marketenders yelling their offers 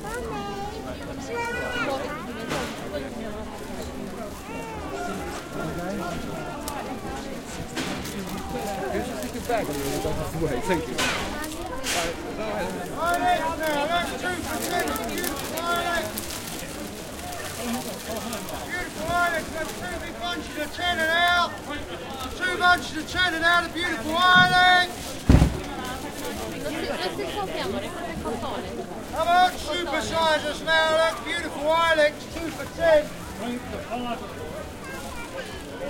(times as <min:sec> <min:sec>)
0:12.0 0:35.8